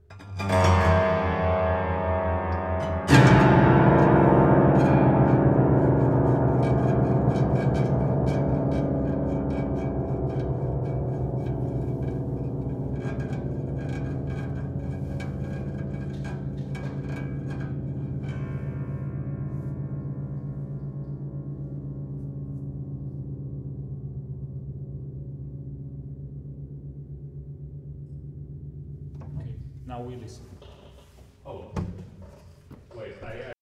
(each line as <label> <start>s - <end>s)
Rösler pianino strings effects 0.0s - 31.2s